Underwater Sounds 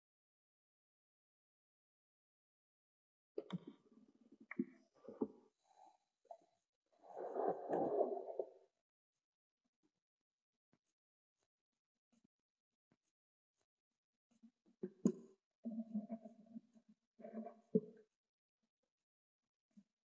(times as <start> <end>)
7.0 8.6